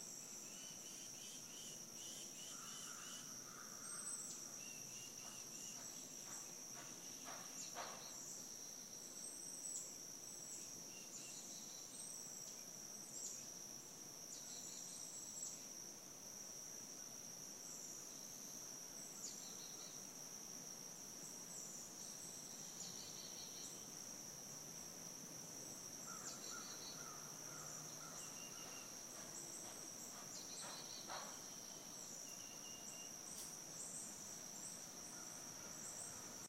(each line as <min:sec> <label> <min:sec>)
0:00.0 Cicada Insects 0:36.4
0:00.0 crickets 0:36.4
0:00.4 birds 0:08.5
0:00.5 frogs 0:08.2
0:25.8 frogs 0:33.2
0:26.0 birds 0:36.4